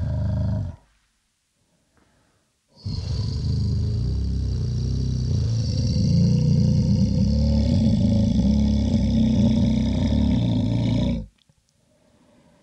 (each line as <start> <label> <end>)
0.0 growl 0.8
2.8 growl 11.4